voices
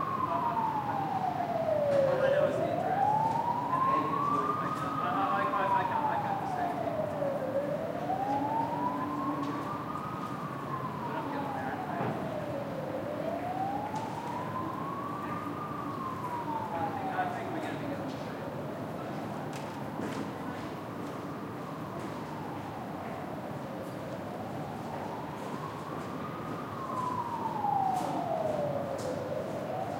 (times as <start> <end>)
0.0 19.5